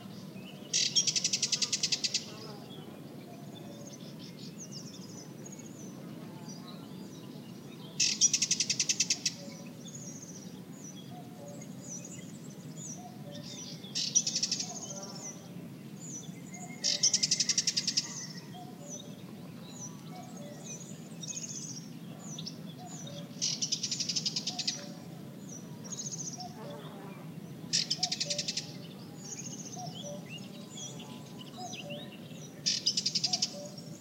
call of warbler 0.0 - 34.0
other birds in BG 0.0 - 34.0
cuckoo 29.8 - 30.4
cuckoo 32.7 - 33.9

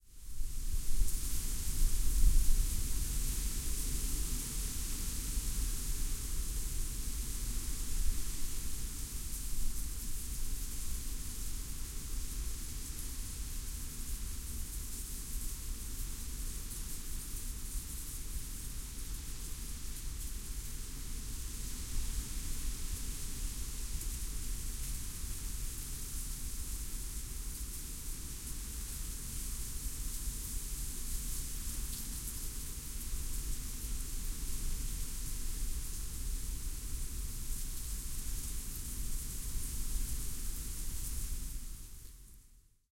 wind blows dry leaves over the sidewalks 0.1 - 42.4

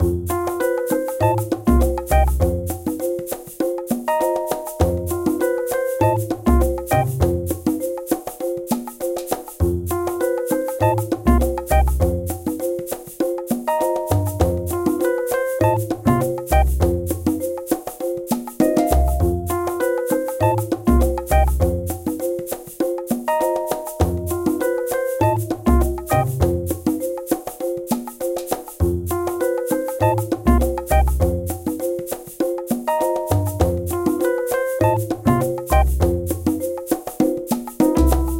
marimba 0.0 - 38.3
shaker 0.0 - 38.3
double bass 1.2 - 2.8
double bass 6.0 - 7.6
double bass 10.8 - 12.4
double bass 15.6 - 17.2
double bass 18.9 - 19.7
double bass 20.4 - 21.9
double bass 25.2 - 26.8
double bass 30.0 - 31.6
double bass 33.3 - 34.0
double bass 34.8 - 36.4
double bass 38.0 - 38.3

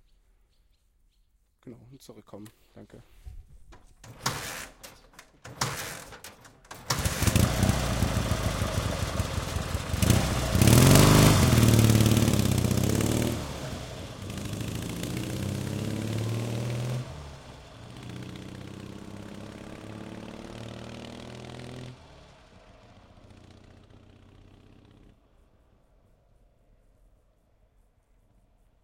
Russian Motorcycle 4.1 - 25.8

